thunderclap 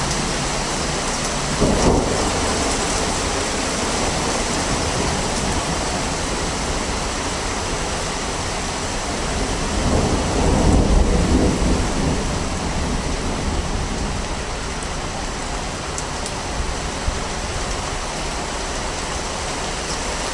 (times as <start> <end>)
1.3 6.6, 9.4 14.2